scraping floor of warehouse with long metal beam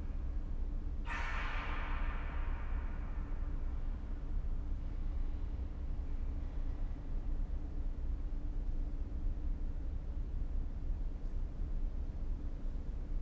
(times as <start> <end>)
1.0 5.3